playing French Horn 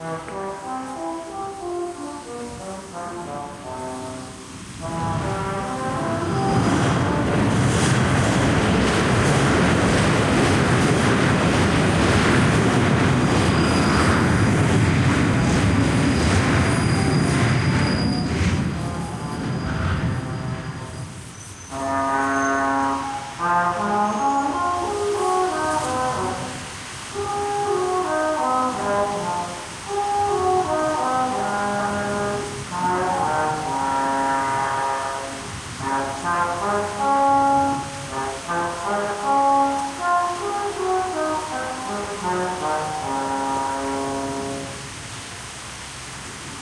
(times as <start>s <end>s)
0.0s 10.7s, 21.7s 45.0s